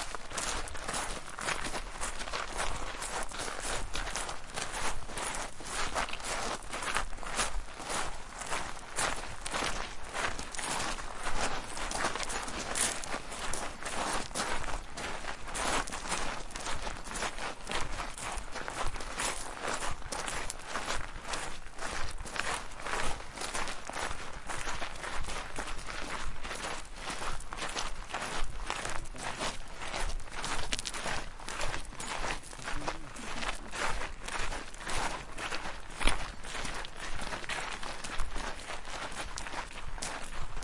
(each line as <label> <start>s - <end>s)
People walking on small stones 0.0s - 40.6s